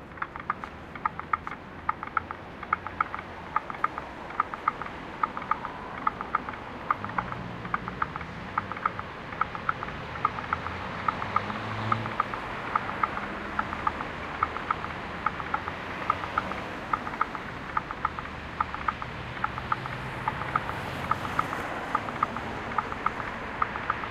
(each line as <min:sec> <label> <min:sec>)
0:00.0 ticking of traffic lights 0:24.1
0:00.0 traffic 0:24.1